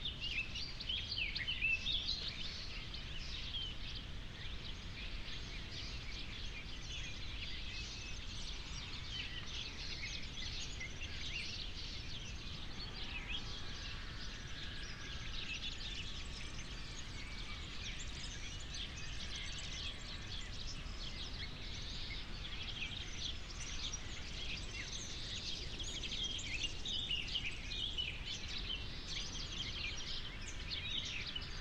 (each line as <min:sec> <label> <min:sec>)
0:00.0 birds 0:31.6